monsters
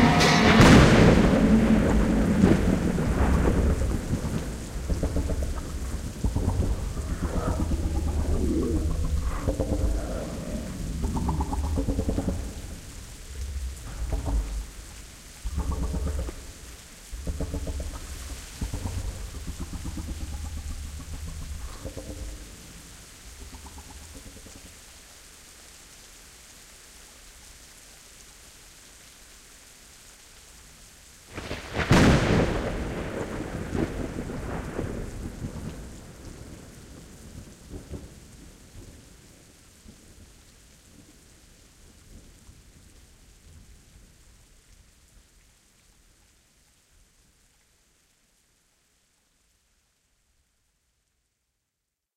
0:00.0 0:14.8, 0:17.2 0:24.6

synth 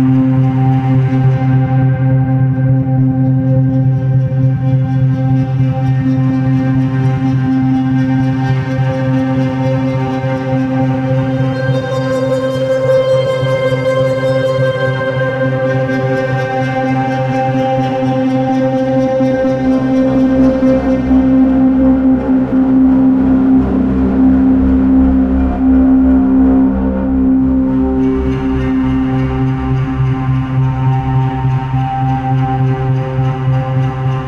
0:17.7 0:34.2

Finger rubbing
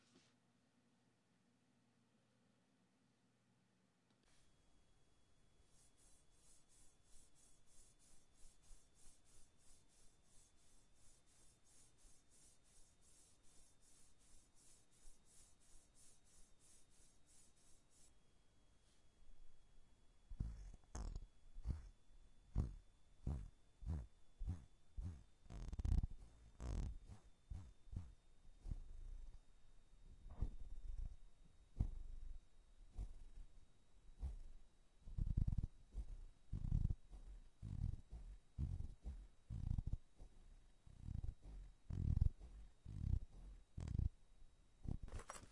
0:05.6 0:18.2, 0:20.3 0:29.4, 0:30.3 0:44.1

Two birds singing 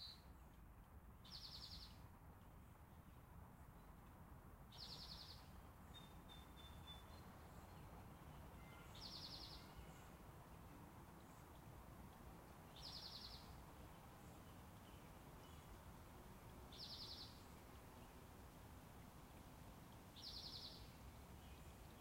0:01.3 0:02.0, 0:04.7 0:10.2, 0:12.7 0:15.8, 0:16.7 0:18.2, 0:20.2 0:22.0

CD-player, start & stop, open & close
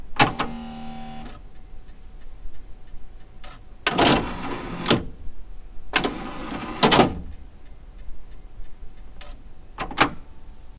0:00.2 0:01.4, 0:03.5 0:05.1, 0:06.0 0:07.2

